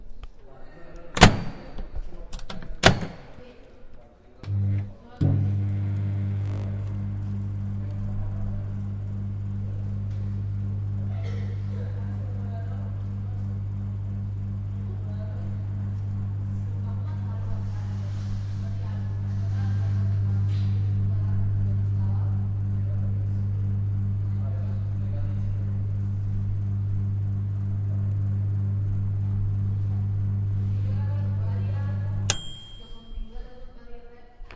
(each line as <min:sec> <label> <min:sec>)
0:01.2 Using microwave 0:01.7
0:04.4 Using microwave 0:33.2